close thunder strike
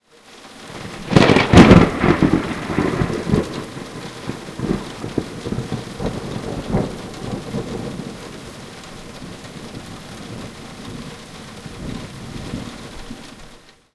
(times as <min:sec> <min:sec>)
0:00.8 0:08.6